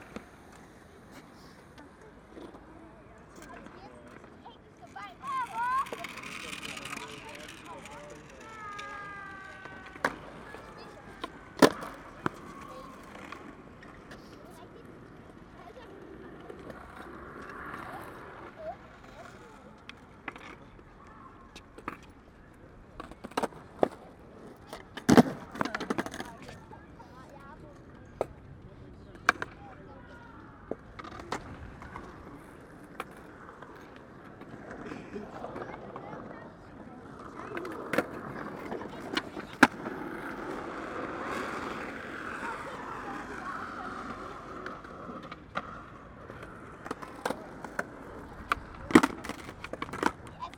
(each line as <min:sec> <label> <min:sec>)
0:00.0 skateboarders playing 0:50.5